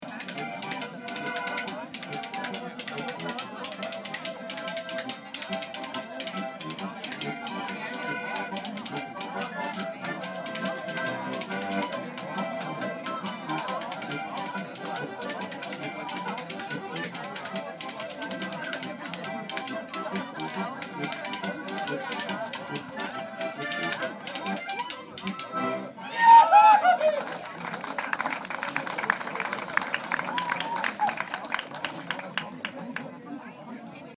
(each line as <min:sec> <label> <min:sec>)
0:00.0 Zünftige Musik 0:26.0